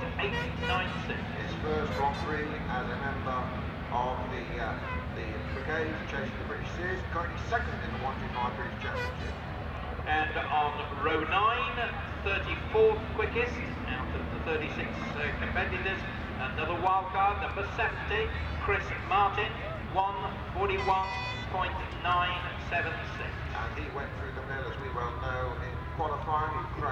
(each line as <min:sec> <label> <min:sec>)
0:10.4 125cc motorcycle race 0:26.9